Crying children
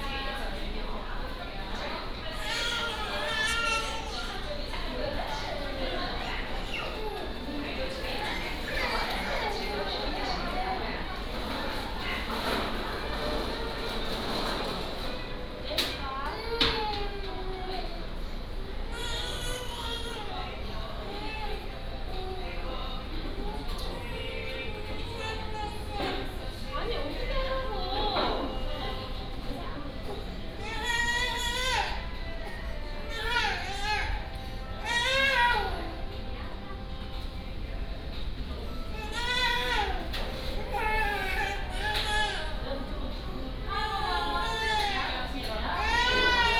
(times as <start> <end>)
2.4 4.6, 30.6 32.2, 33.0 36.0, 39.0 42.6, 43.7 46.5